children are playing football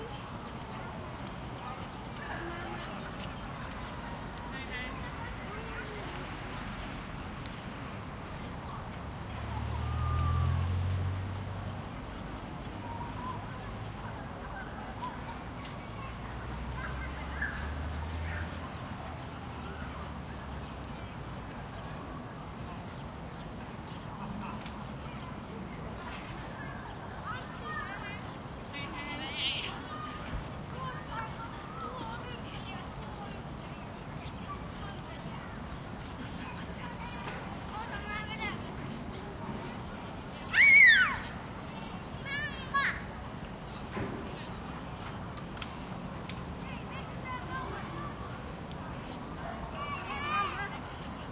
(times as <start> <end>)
0.0 7.1, 40.4 43.3, 49.0 51.0